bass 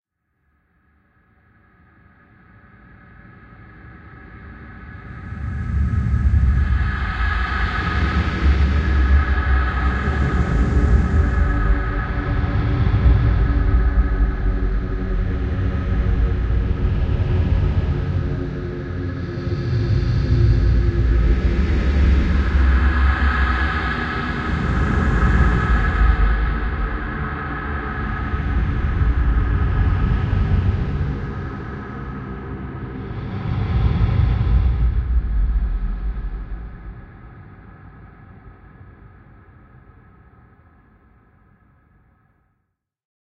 4.9 38.6

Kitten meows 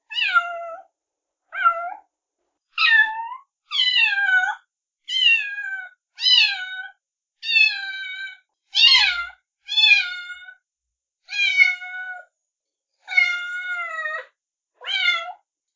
0.1 0.9, 1.5 2.1, 2.8 10.6, 11.3 12.3, 13.0 15.4

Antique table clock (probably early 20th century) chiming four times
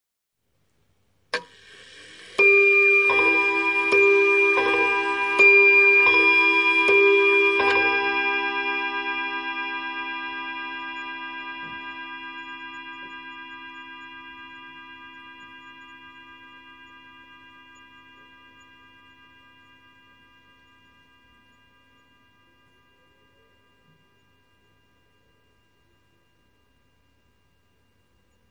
2.3 19.2

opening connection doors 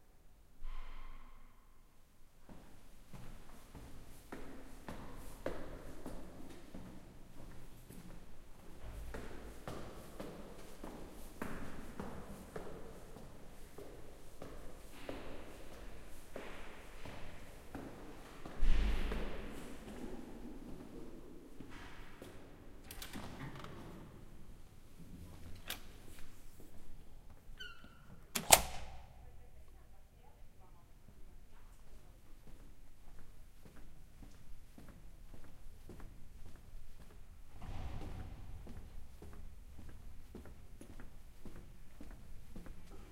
22.8 24.2, 27.6 29.0

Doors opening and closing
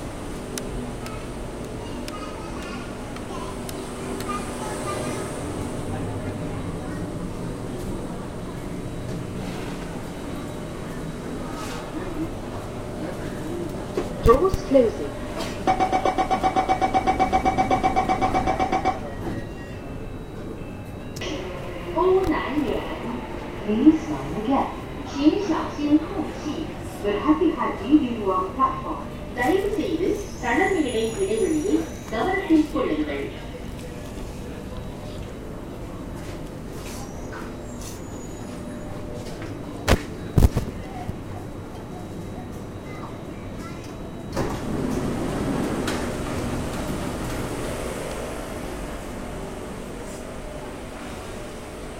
43.6 48.0

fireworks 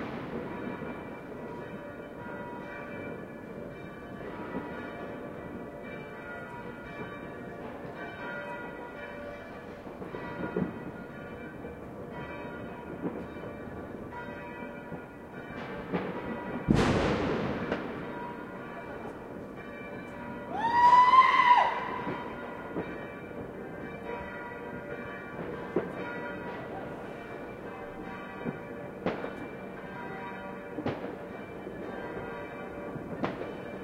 0.0 1.7, 9.8 11.9, 12.8 14.0, 15.0 19.5, 20.6 23.9, 24.8 27.2, 28.4 29.5, 30.8 32.2, 32.9 33.8

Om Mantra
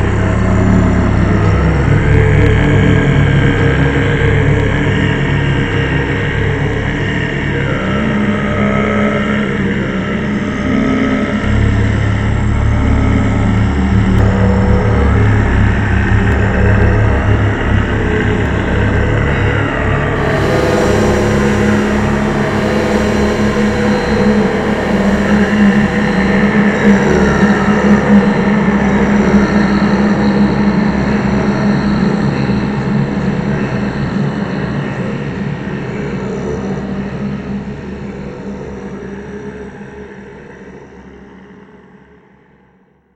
5.7 11.5, 20.2 30.3

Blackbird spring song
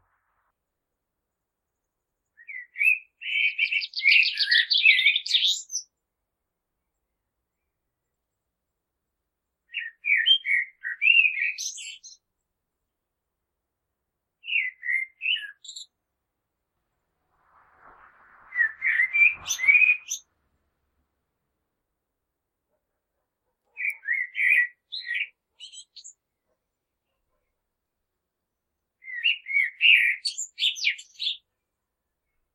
1.7 6.0, 9.7 12.3, 14.4 16.0, 18.4 20.3, 23.7 27.6, 29.0 31.6

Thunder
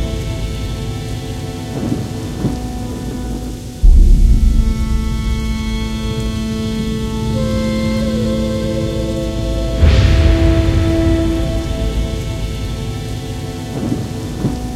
3.8 7.8, 9.7 14.7

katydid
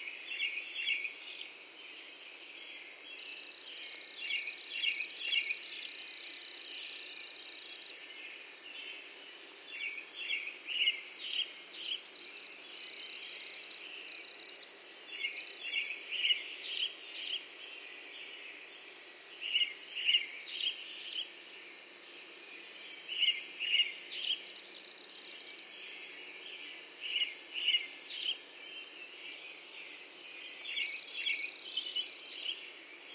3.1 8.1, 9.7 17.5, 23.1 33.1

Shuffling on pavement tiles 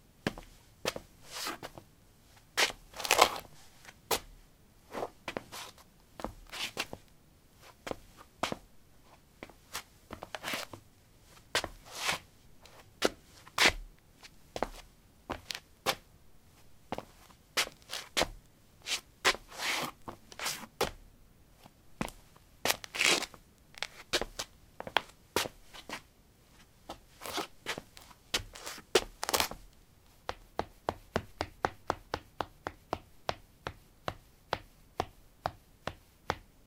2.4 16.0, 16.6 21.0, 21.6 29.6

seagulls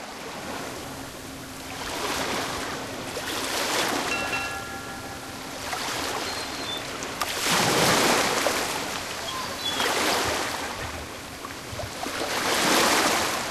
9.2 10.7

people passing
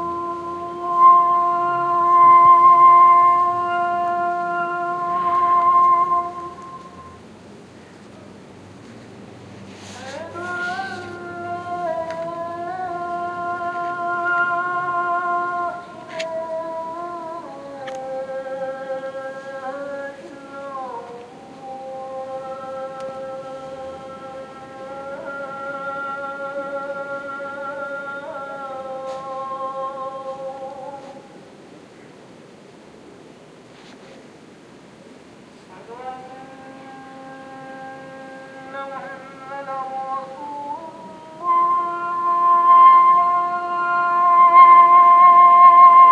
3.3 14.0

